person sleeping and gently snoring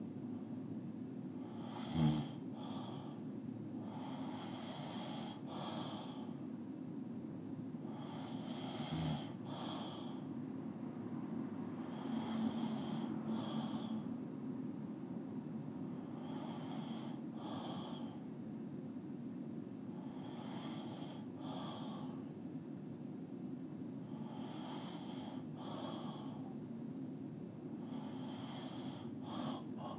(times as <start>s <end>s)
1.6s 2.4s, 8.0s 10.1s